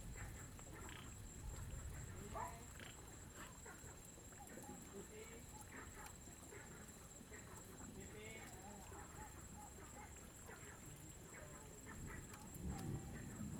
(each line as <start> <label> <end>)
12.6 Thunder 13.5